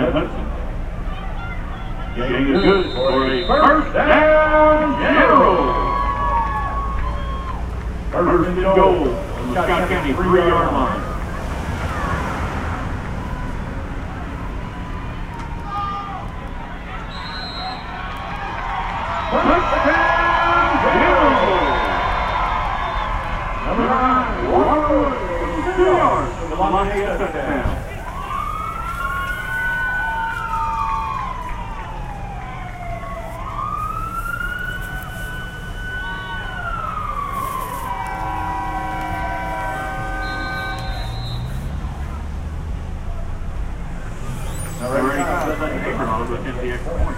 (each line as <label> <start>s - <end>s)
American football 0.0s - 42.2s
crowd 0.0s - 47.1s
American football 44.4s - 47.1s